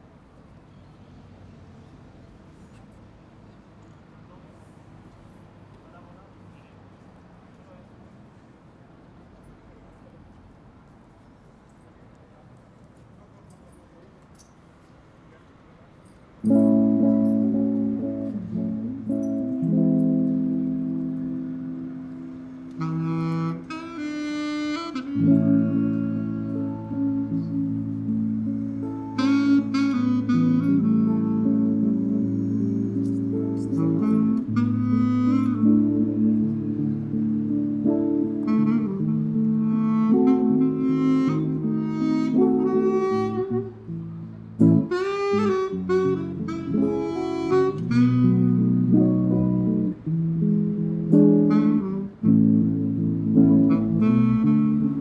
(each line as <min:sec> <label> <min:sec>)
0:00.0 tourists stroll 0:55.0
0:16.4 two musicians we feast of their harmonious music 0:55.0